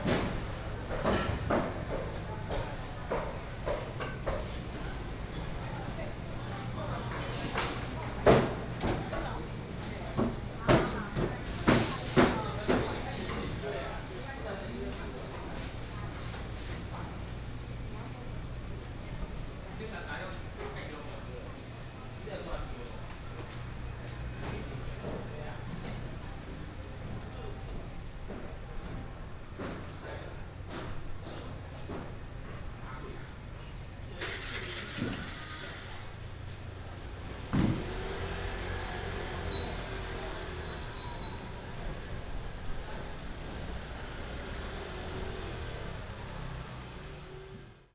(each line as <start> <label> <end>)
33.4 vendors peddling 47.6